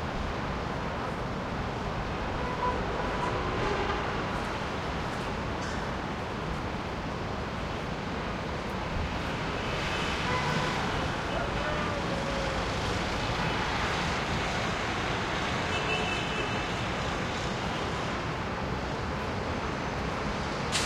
distant traffic 0:00.0 - 0:20.8
horn honks echo off buildings2 0:10.3 - 0:11.0

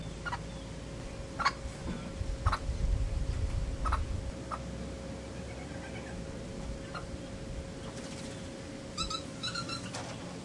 Quiet calls from a Green Aracari 0:05.2 - 0:06.2
call of a Plush-crested Jay 0:07.9 - 0:10.2
Quiet calls from a Green Aracari 0:09.0 - 0:10.0

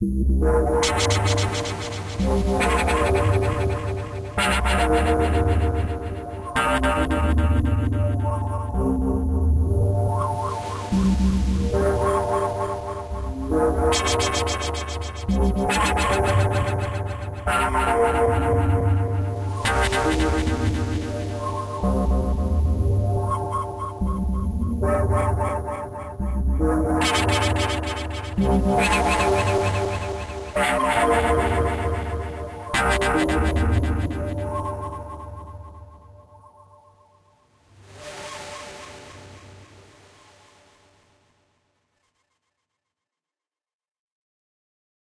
Bass 0:00.0 - 0:10.2
Bass 0:13.1 - 0:35.4
sharp nice smoothing synth sound 0:37.7 - 0:41.3

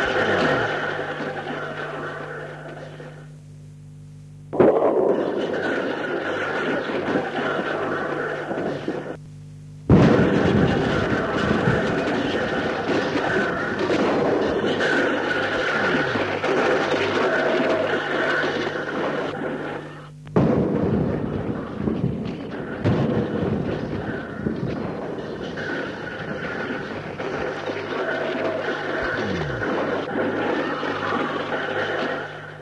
explosions 0:09.9 - 0:16.9
explosions 0:20.4 - 0:27.3
explosions 0:29.0 - 0:30.2

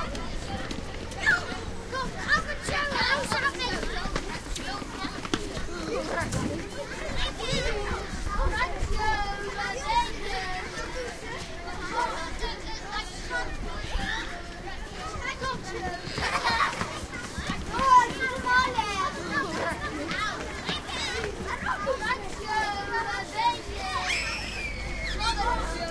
footsteps 0:00.0 - 0:12.7
schoolchildren leaving school 0:00.0 - 0:25.9
footsteps 0:14.0 - 0:25.9

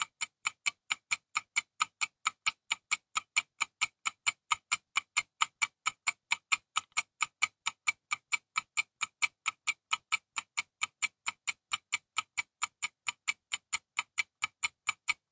Count Down Clock 0:00.0 - 0:15.3

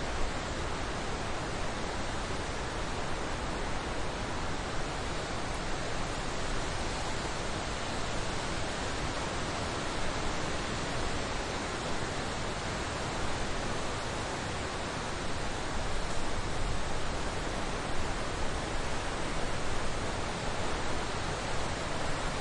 Moderate to high wind in a forrest 0:00.0 - 0:22.4

